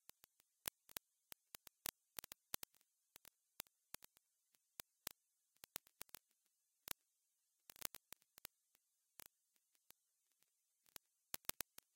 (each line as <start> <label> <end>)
0.0 vinyl crackle 7.0
7.7 vinyl crackle 11.9